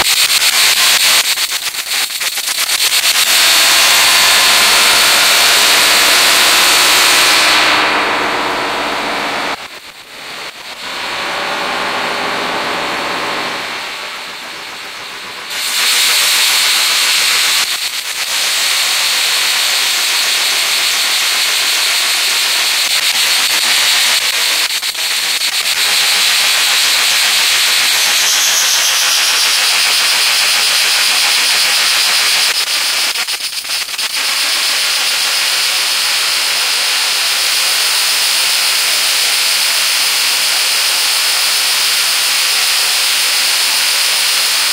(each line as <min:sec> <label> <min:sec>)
0:03.2 live modular jamb 0:09.8